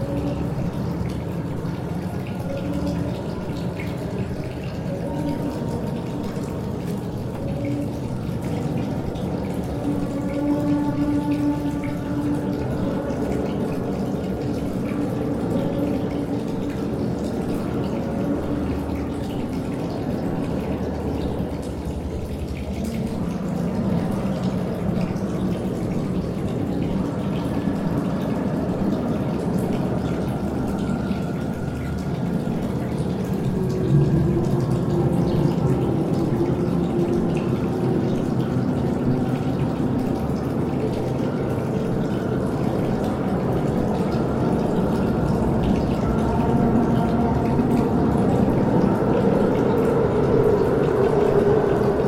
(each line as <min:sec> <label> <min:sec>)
0:00.0 water 0:52.0